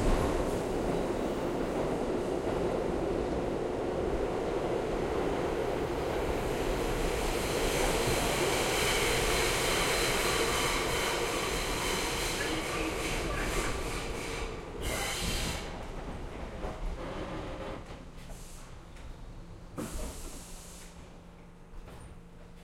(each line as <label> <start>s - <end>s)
Subway Train Arriving to Station 0.0s - 22.6s
subway announcement 7.8s - 15.8s